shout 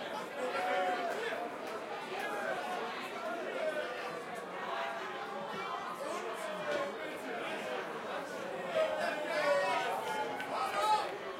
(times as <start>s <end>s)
8.7s 11.3s